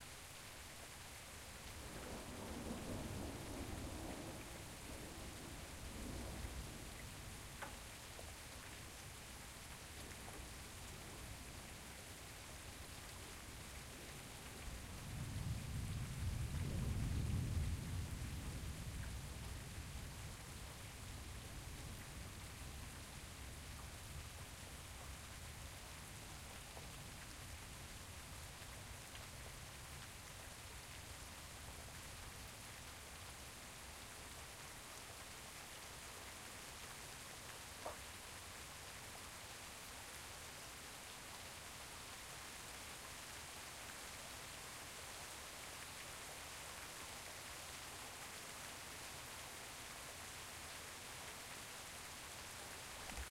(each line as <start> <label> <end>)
0.0 gentle rain 53.3
1.8 very distant thunder 7.0
15.2 very distant thunder 20.2